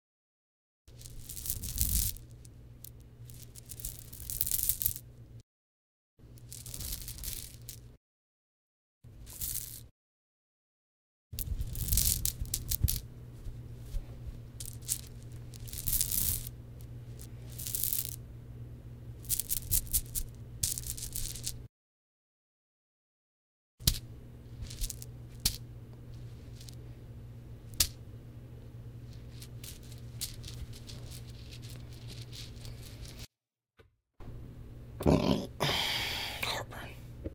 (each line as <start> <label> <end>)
0.9 pouring diamonds 2.4
3.3 pouring diamonds 5.0
6.4 pouring diamonds 7.8
9.3 pouring diamonds 9.9
11.4 pouring diamonds 13.0
14.6 pouring diamonds 16.5
17.2 pouring diamonds 18.2
19.2 pouring diamonds 21.6
24.6 pouring diamonds 25.6
29.1 pouring diamonds 33.3